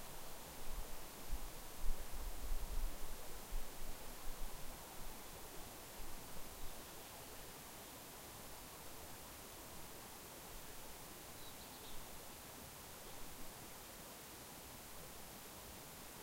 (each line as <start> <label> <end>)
0.0 light forest sounds 16.2